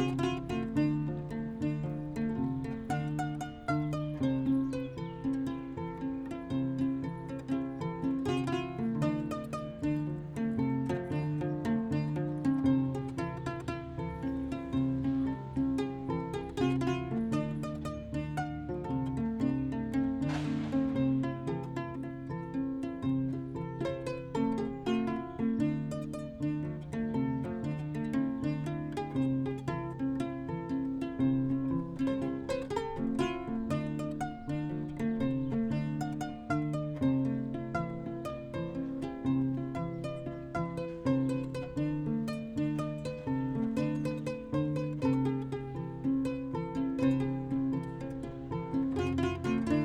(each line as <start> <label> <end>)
0.0 plays the Kora 49.8